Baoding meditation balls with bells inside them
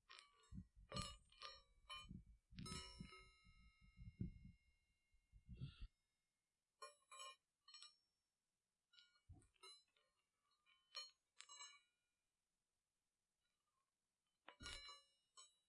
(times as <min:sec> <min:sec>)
0:00.1 0:06.0, 0:06.7 0:08.2